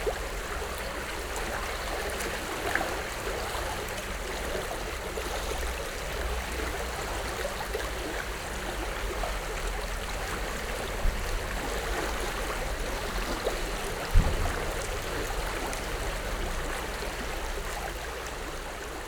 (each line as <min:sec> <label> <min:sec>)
0:00.0 flow of Gradaščica river 0:19.0